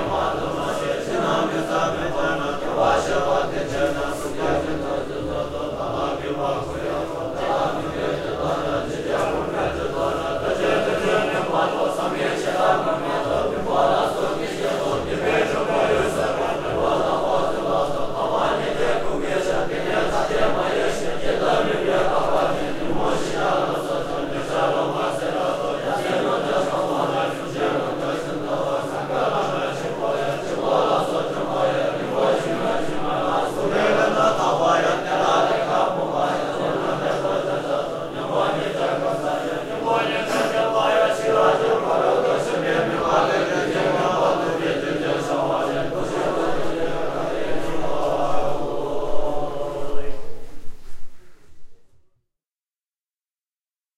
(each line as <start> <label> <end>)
0.0 chanting 52.0